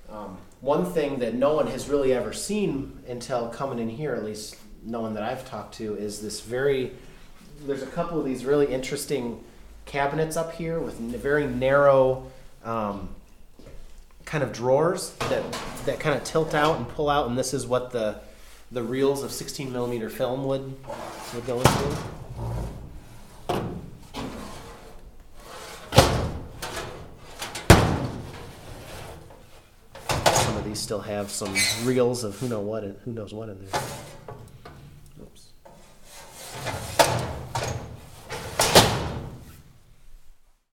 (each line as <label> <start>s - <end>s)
Voice 0.1s - 13.2s
Voice 14.2s - 22.2s
metal cabinets for film reels 15.1s - 17.0s
metal cabinets for film reels 20.7s - 32.1s
old projector parts piled on floor 20.8s - 30.5s
Voice 30.1s - 34.1s
metal cabinets for film reels 33.6s - 35.0s
Voice 35.1s - 35.6s
metal cabinets for film reels 35.6s - 39.5s